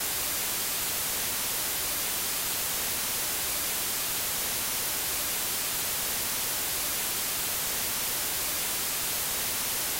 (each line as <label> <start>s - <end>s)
Noise 0.0s - 9.9s